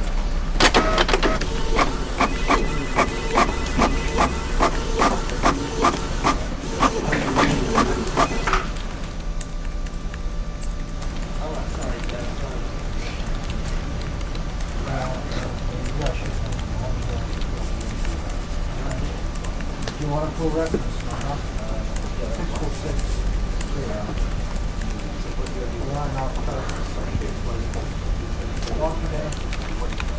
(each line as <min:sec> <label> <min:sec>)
0:00.0 office activities 0:30.1
0:00.6 printer 0:09.1
0:00.6 fax 0:08.8
0:00.6 telephone 0:05.6
0:00.7 paper 0:08.8
0:00.7 voices 0:08.7
0:14.6 voices 0:30.1